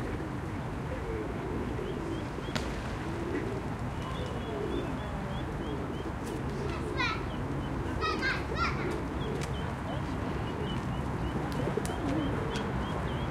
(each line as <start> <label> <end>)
0.0 pigeons 13.3
0.0 traffic 13.3
3.4 People are walking 13.3